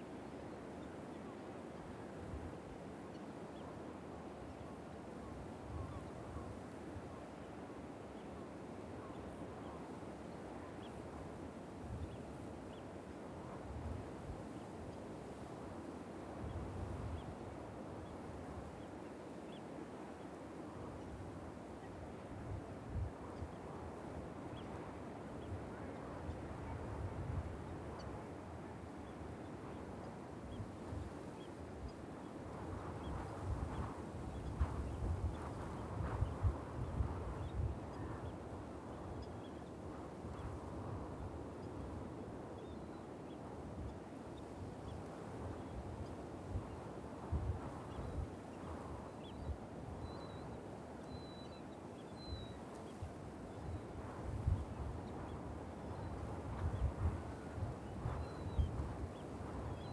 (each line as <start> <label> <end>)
0.0 winds 59.9